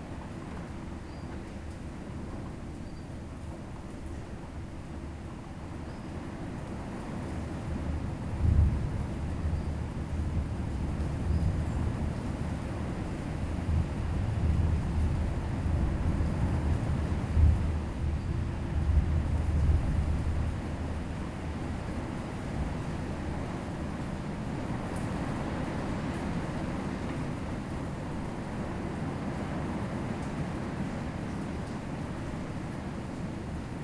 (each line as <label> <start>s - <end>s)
thunderstorm 8.3s - 12.1s